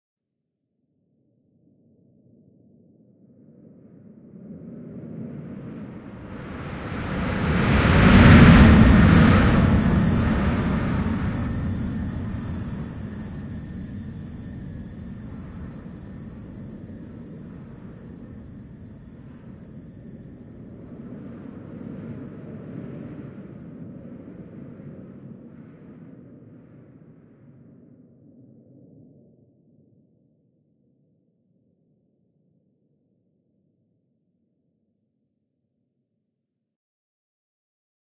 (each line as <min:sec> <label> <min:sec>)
0:04.7 airliner flying over 0:26.3